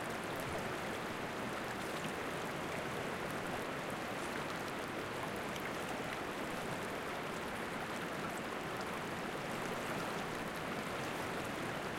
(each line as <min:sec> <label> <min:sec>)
0:00.0 river 0:11.9